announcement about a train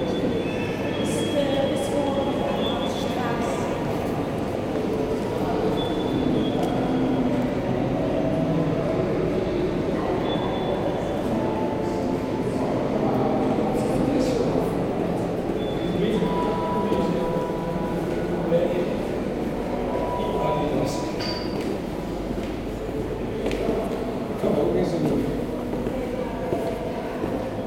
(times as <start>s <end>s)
4.9s 21.2s